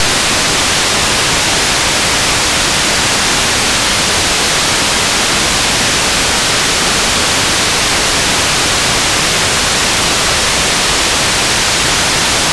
Noise Oscillator 0.0 - 2.4

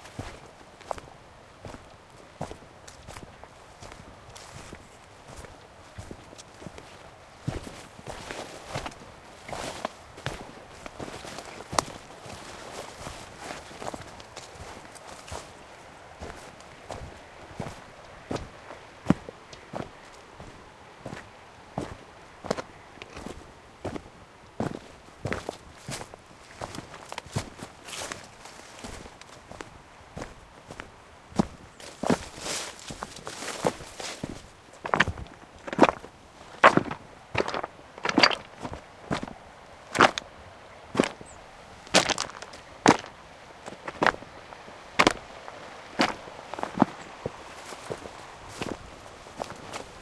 river 0.0 - 50.0
footsteps 31.4 - 40.2
footsteps 41.9 - 44.2
footsteps 45.0 - 50.0

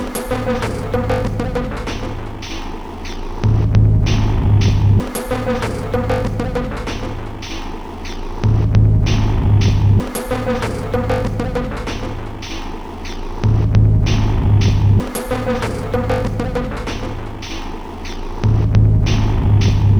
Drum 0.0 - 19.9

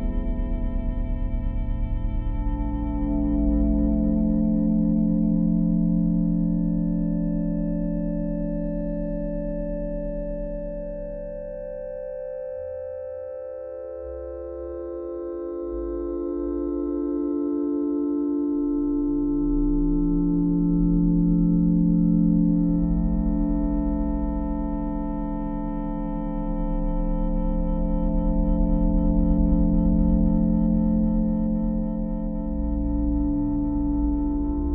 slow, quiet, and amorphous combination of synth sounds 0.0 - 34.7

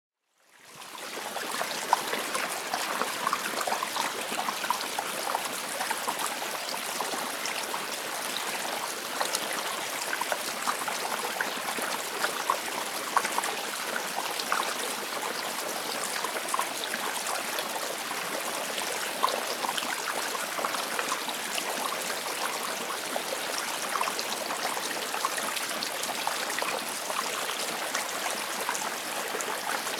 Gentle flow of water in and around rocks 0.3 - 29.9

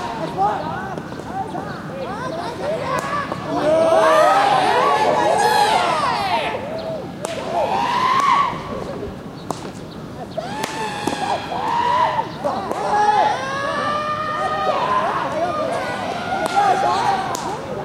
cries made by a Japanese baseball team warming up 0.0 - 17.8
bat 10.6 - 11.7

